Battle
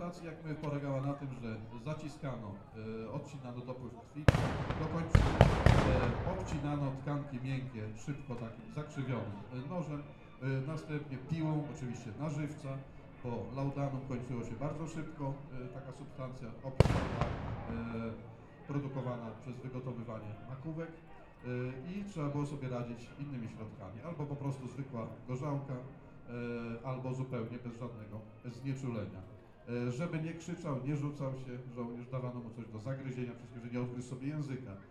4.3 7.0, 16.8 18.3

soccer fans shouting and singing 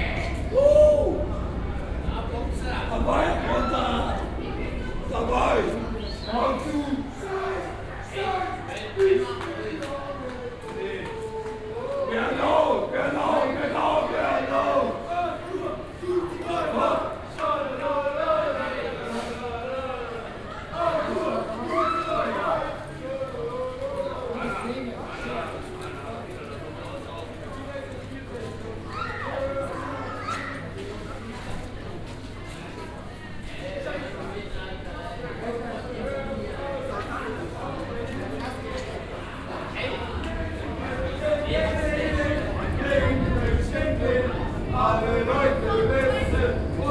0.0 9.4, 39.9 46.9

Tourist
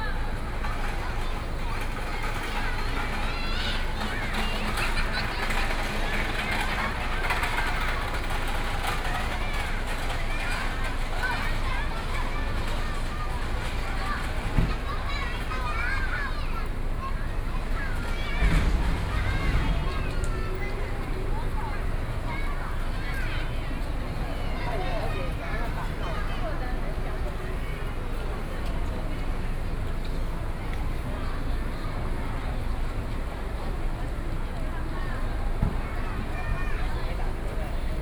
16.7 29.9

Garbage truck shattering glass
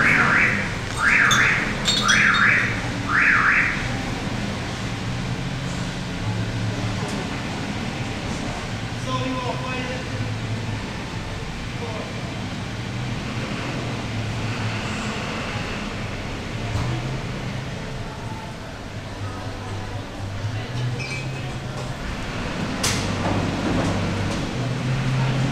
0.9 2.8

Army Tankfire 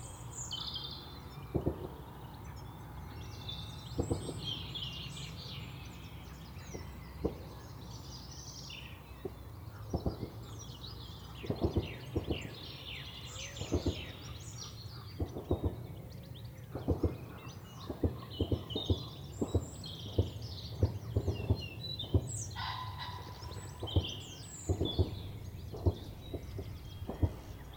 15.2 16.1, 16.7 22.5, 23.8 27.7

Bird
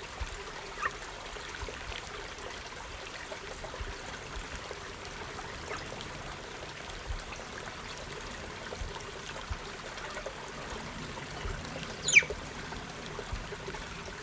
11.7 12.6

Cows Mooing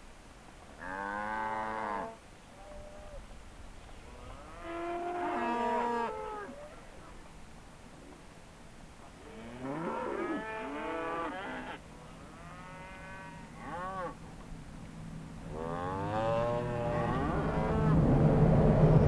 0.8 3.2, 4.1 7.2, 9.2 14.4, 15.5 17.9

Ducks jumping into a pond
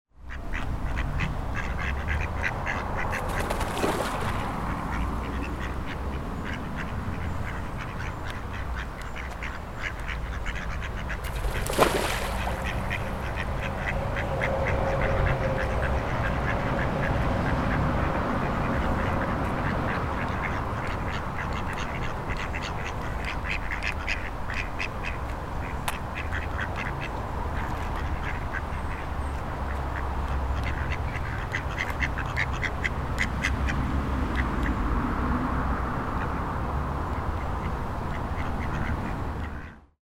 3.0 5.5, 10.5 14.5

